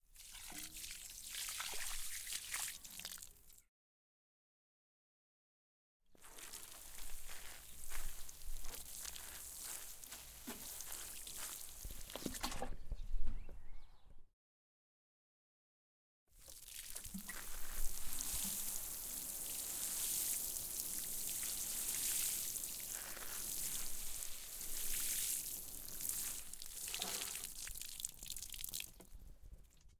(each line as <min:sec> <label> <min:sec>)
0:00.0 watering can 0:03.6
0:06.2 watering can 0:12.8
0:16.4 watering can 0:29.9